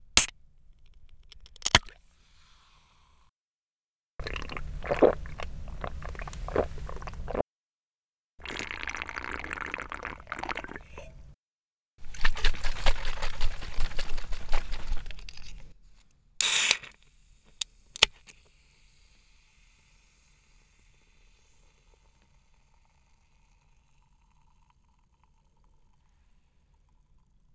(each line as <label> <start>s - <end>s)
opening a can of soda 0.2s - 2.0s
drinking and slurping it 4.2s - 7.4s
letting it fizzle 4.2s - 7.4s
drinking and slurping it 8.4s - 11.3s
shaking a can vigorously 12.0s - 15.7s
opening a can of soda 16.4s - 18.4s